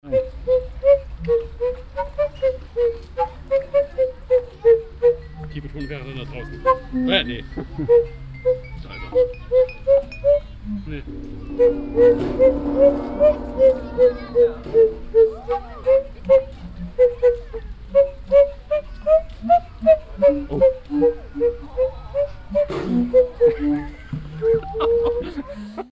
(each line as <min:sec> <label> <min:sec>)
0:11.0 violin player 0:18.4